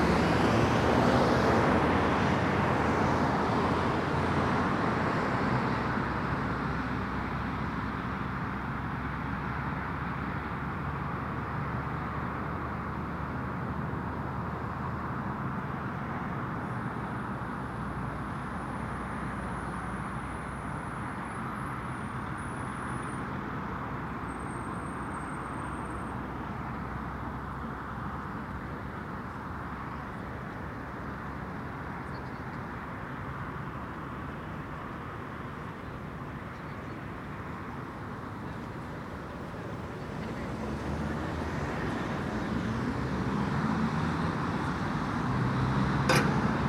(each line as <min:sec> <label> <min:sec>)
0:00.0 Pulse of traffic 0:46.6
0:46.1 clang of gate 0:46.5